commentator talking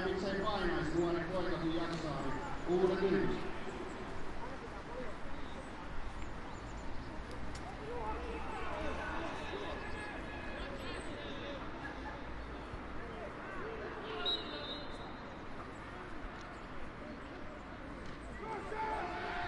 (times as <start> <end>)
0.0 4.6